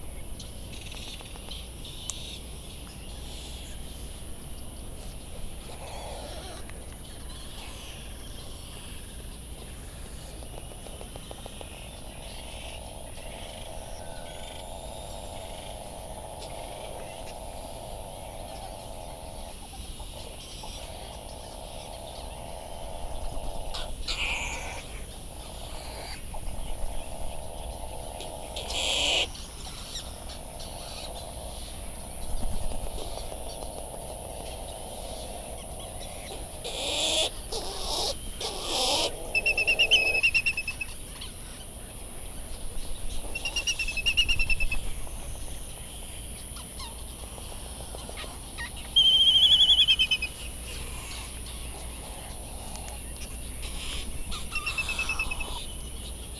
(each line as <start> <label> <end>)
0.0 background noise from generators 56.3
5.6 bonin calls and flight calls 8.1
12.4 bonin calls and flight calls 41.6
36.3 white tern calls 41.3
47.9 bonin calls and flight calls 55.7
48.1 white tern calls 51.8
53.6 white tern calls 55.7